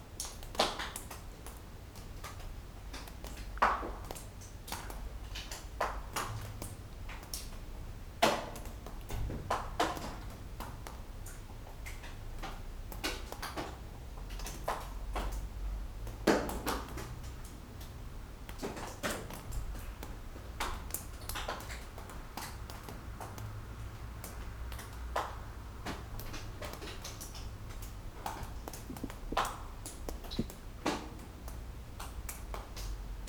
28.2s dripping drops 30.9s

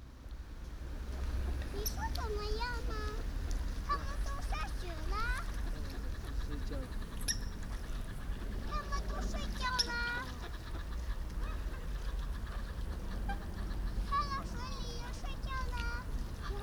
0.7s ducks 16.6s
3.9s coots 16.6s

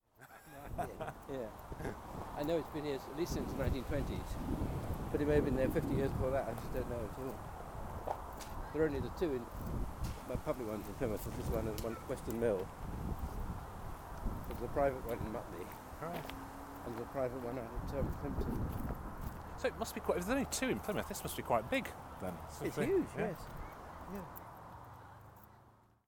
11.6s Talking 12.4s

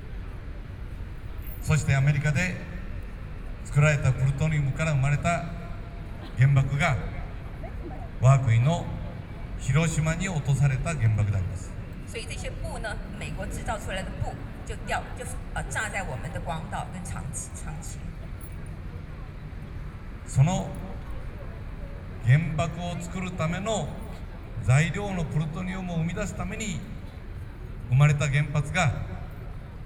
1.6s Speech 2.8s
3.6s Speech 5.6s
6.2s Speech 9.0s
9.6s Speech 18.2s
20.3s Speech 26.9s
27.9s Speech 29.2s

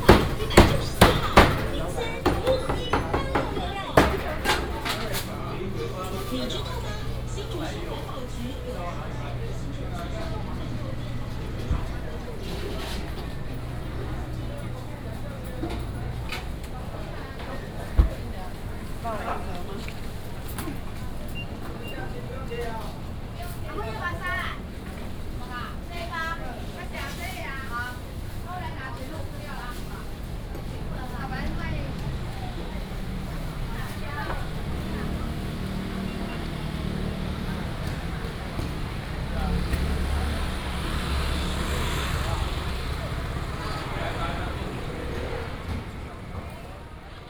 0.0s vendors peddling 47.2s
0.0s walking in the Traditional market 47.2s

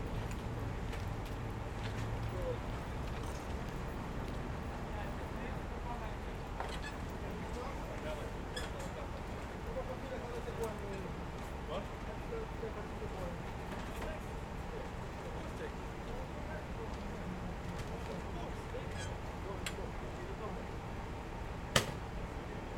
0.0s traffic 22.7s
0.0s people walking 4.8s
0.0s workers unloading materials from a van 20.8s

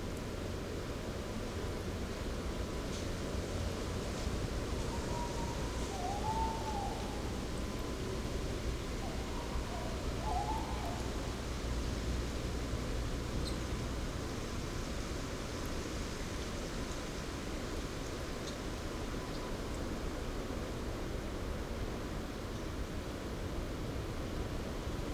4.7s Owl (Waldkauz) couple (male/fem) 11.6s

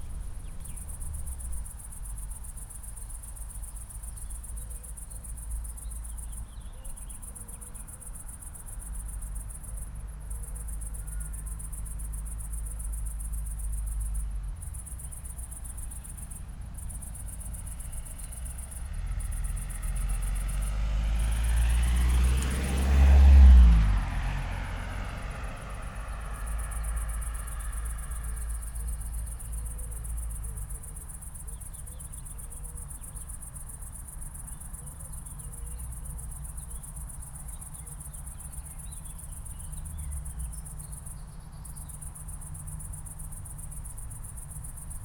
14.7s Muscle car is passing by 31.1s

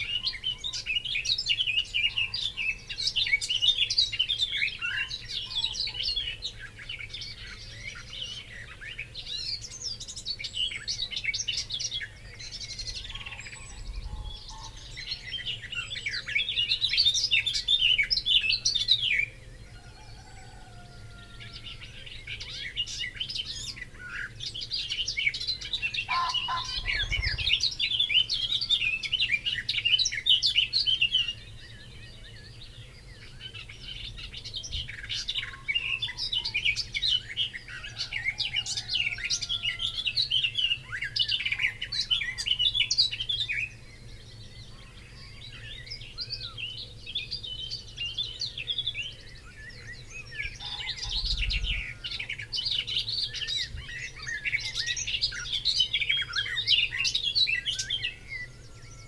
0.0s Garden warbler 20.6s
0.0s blackbird 59.0s
0.0s pheasant 59.0s
21.2s Garden warbler 59.0s
21.4s willow warbler 59.0s
26.0s blackcap 28.3s

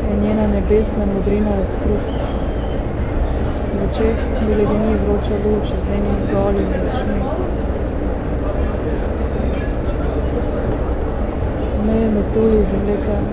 0.0s S-bahn 13.3s

